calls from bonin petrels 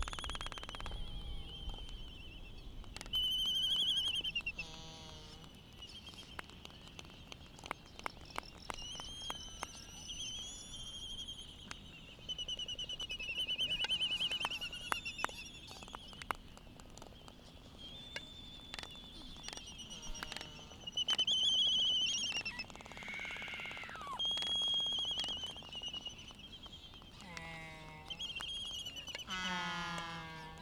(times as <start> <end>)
3.0 5.5, 18.7 25.7, 27.2 30.6